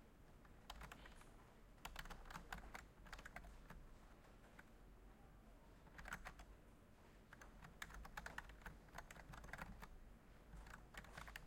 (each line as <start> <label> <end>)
0.6 Typing 1.2
1.8 Typing 3.8
5.9 Typing 6.5
7.3 Typing 9.9
10.6 Typing 11.4